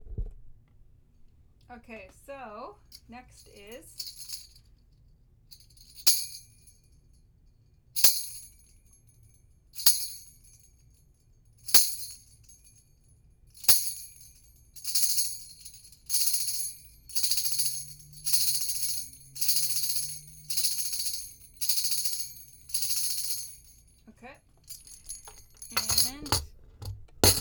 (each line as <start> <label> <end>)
3.6 tambourine 4.9
5.5 tambourine 24.0
24.6 tambourine 26.5